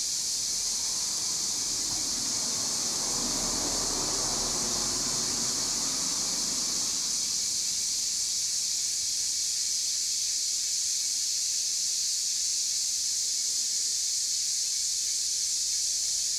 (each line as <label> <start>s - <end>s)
traffic sounds 0.0s - 9.2s
Cicada sounds 0.0s - 16.3s